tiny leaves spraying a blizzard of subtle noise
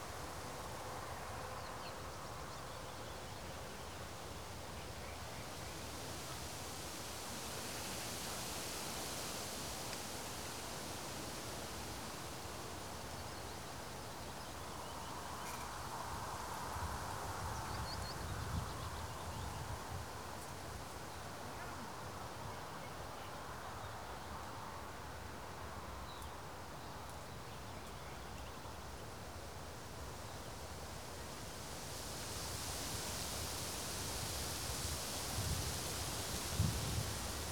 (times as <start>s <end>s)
31.4s 37.5s